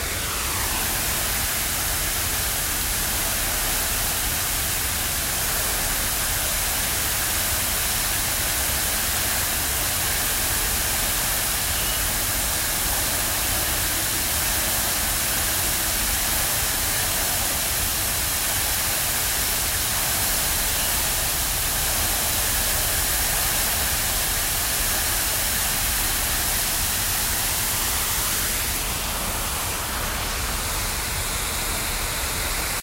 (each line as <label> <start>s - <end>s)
fountain 0.0s - 32.8s